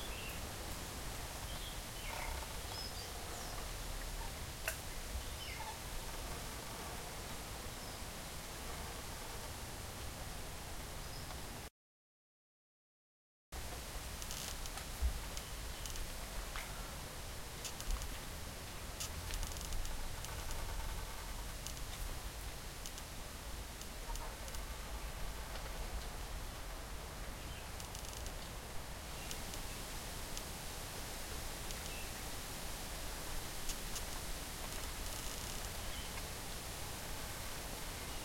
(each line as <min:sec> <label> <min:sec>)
0:00.0 leaves rustle in the wind 0:11.7
0:01.3 Bamboos creaks as they hit each others with the wind 0:07.2
0:13.6 leaves rustle in the wind 0:38.2
0:13.8 Bamboos creaks as they hit each others with the wind 0:30.7
0:31.6 Bamboos creaks as they hit each others with the wind 0:36.4